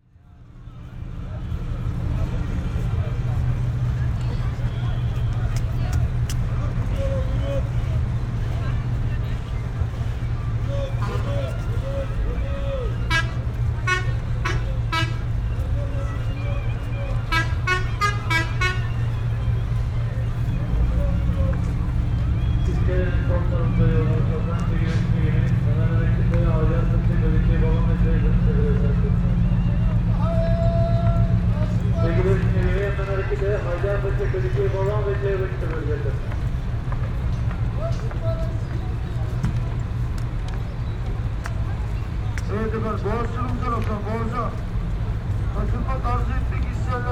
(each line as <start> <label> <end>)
0.0 tour boat 47.1